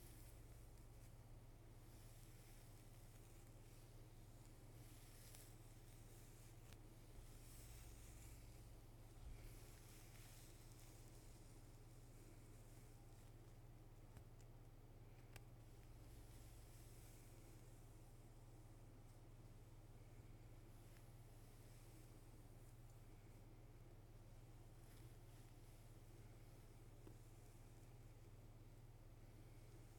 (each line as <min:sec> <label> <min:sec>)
0:00.0 Hair Petting 0:14.5